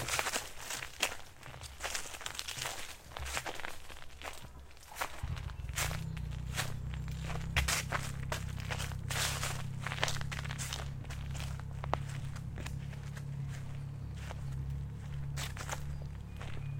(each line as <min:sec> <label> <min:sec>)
0:00.0 footsteps on fall leaves 0:16.7
0:04.9 boat motor in distance 0:16.7